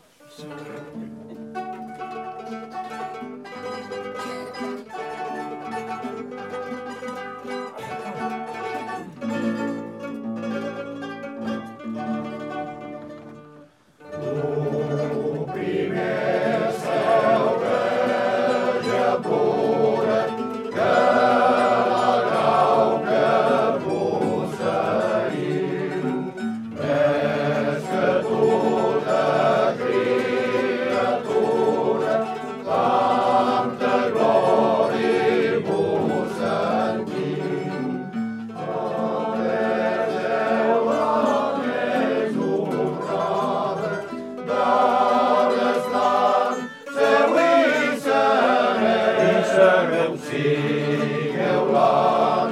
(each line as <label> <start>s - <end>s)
hymns sung by male choirs 14.1s - 38.0s
hymns sung by male choirs 38.6s - 52.5s